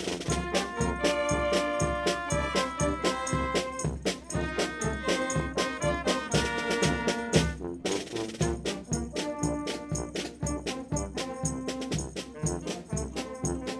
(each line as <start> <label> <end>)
0.0 fanfare is playing, walking in the streets 13.7